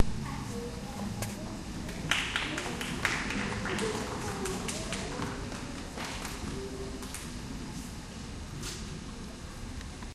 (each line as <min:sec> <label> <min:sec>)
0:02.0 applause 0:06.4